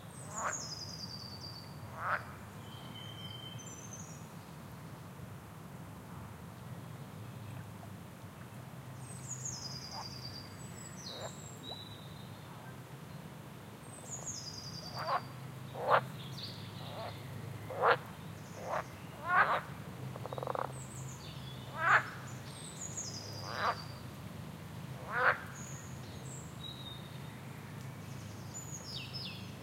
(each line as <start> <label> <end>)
0.2 frogs 0.6
1.9 frogs 2.4
11.1 frogs 11.4
13.8 birds 24.1
14.8 frogs 16.1
16.8 frogs 17.1
17.7 frogs 20.8
21.7 frogs 22.3
23.3 frogs 23.9
25.0 frogs 25.6
25.0 birds 29.6